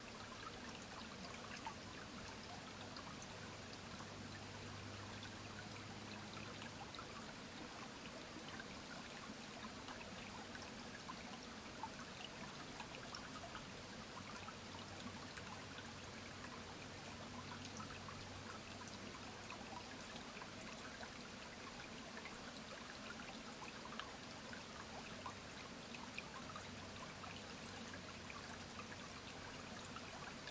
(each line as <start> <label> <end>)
0.0 small river 30.5